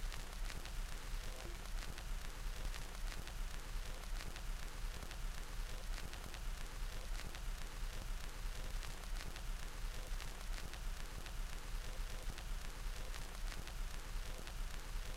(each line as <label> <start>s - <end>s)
needle on a vinyl record 0.0s - 15.1s